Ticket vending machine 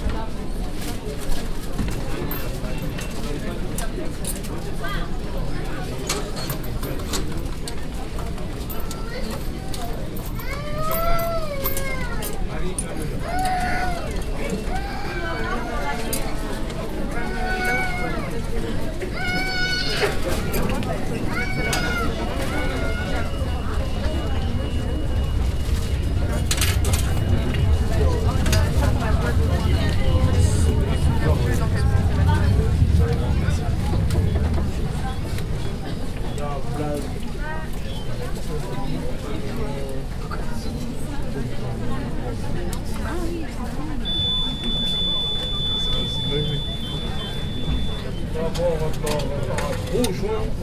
0:44.0 0:48.1

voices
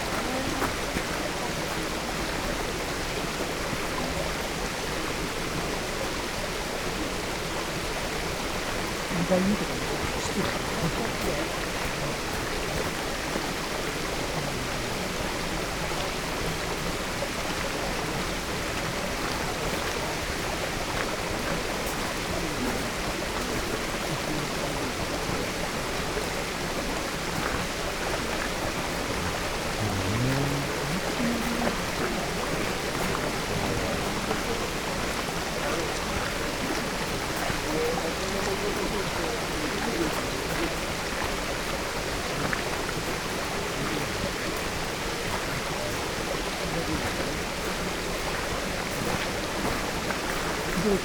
0:28.8 0:40.8, 0:49.2 0:51.0

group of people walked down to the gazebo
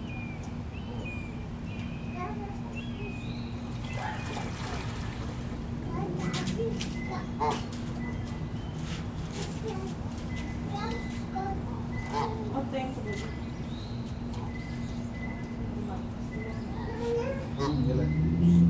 0:06.1 0:17.1

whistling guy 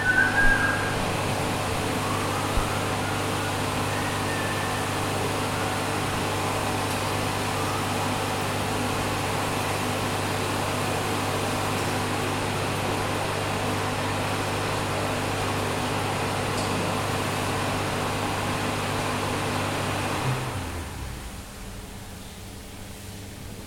0:00.0 0:01.1, 0:01.9 0:05.8

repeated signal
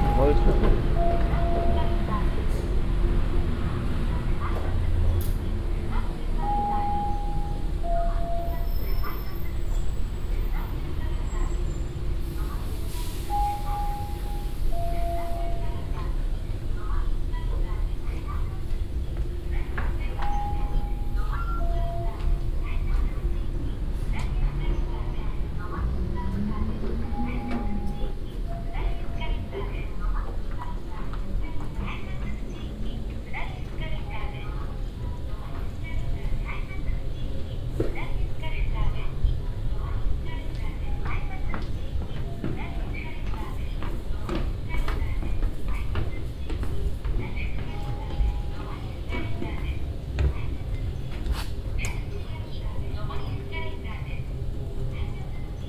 0:00.0 0:02.1, 0:06.4 0:08.6, 0:27.0 0:29.5

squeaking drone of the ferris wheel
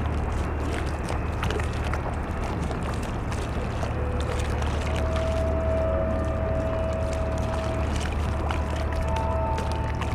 0:03.2 0:10.1

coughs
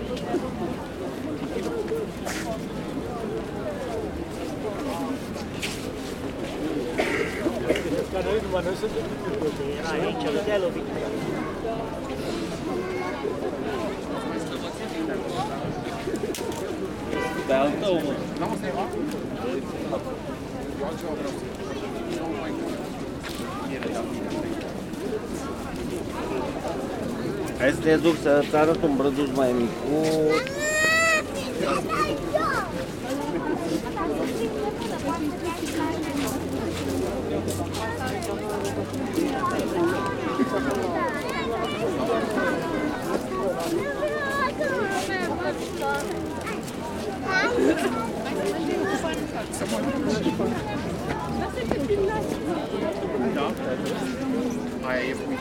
0:06.9 0:08.0

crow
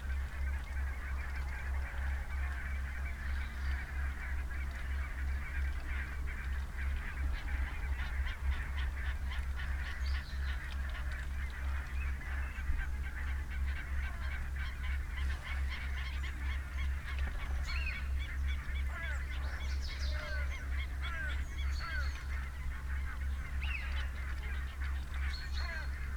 0:17.1 0:22.5, 0:25.2 0:26.1

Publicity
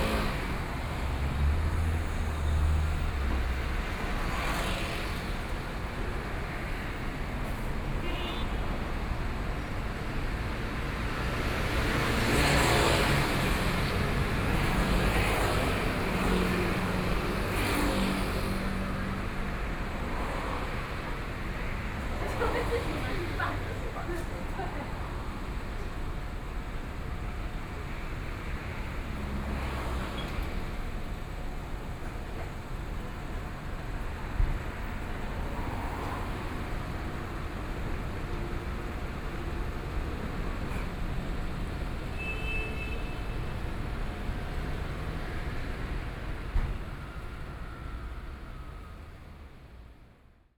0:22.1 0:25.1

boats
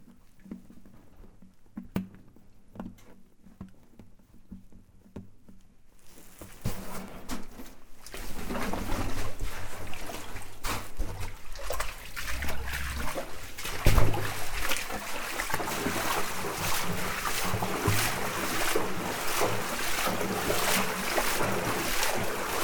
0:07.8 0:22.6

